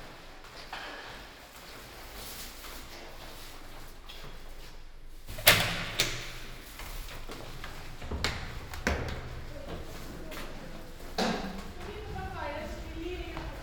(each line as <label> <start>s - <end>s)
Evening walk 7.1s - 13.6s